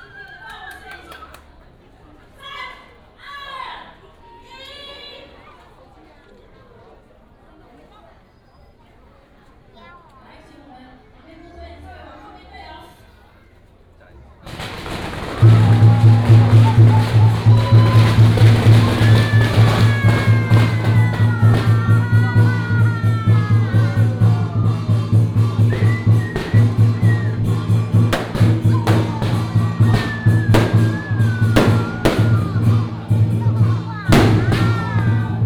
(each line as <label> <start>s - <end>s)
Firecrackers 14.4s - 35.4s
fireworks 14.5s - 35.4s